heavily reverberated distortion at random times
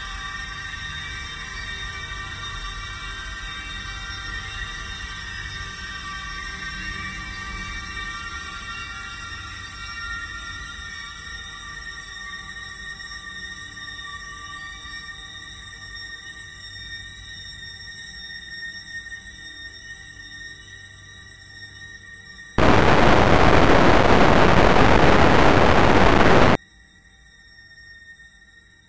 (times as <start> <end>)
22.6 26.6